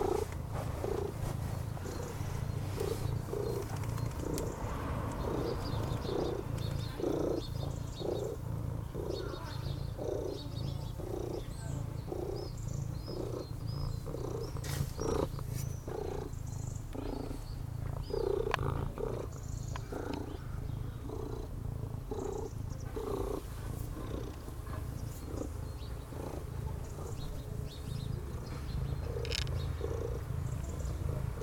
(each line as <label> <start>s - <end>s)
neighbours cleaning their terrasse 0.0s - 7.7s
birds 0.0s - 31.4s
tomcat purring 0.0s - 31.4s
car passing by 3.7s - 6.4s
neighbours cleaning their terrasse 13.2s - 16.4s
neighbours cleaning their terrasse 21.8s - 31.4s